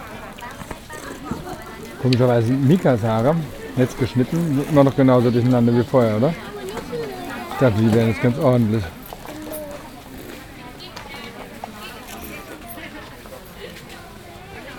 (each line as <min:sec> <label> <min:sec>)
0:00.0 vendors from the mountain minorities who speak their own languages 0:14.7
0:01.0 policemen asked us 0:09.1